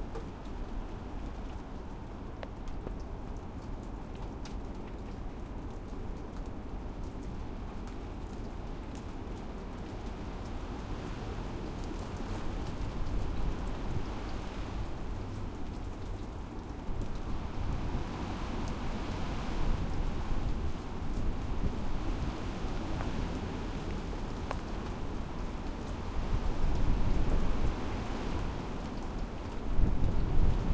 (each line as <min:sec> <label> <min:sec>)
0:00.0 rain 0:30.7
0:10.2 strongish wind in trees 0:30.7